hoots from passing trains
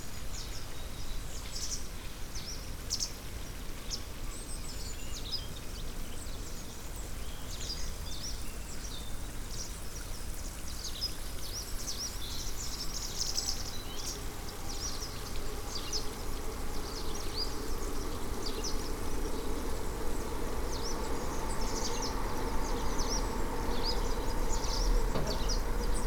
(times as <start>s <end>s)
13.6s 26.0s